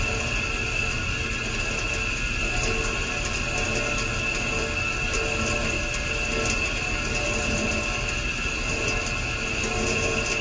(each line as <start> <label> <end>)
0.0 uncooperative radiator 10.4